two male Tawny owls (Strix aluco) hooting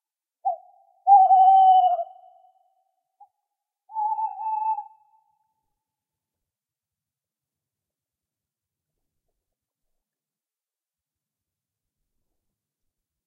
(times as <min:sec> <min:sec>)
0:00.4 0:03.3, 0:03.9 0:05.4